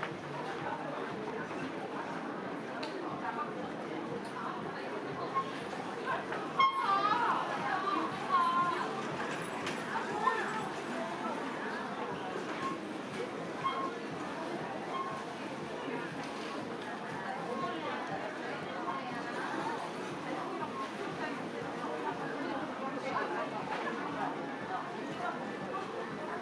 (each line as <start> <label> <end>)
6.6 Bicycle Horn 7.0